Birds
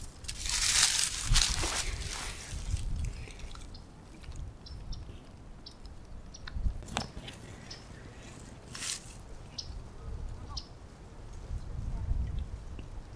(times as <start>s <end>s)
3.0s 8.7s, 9.3s 10.8s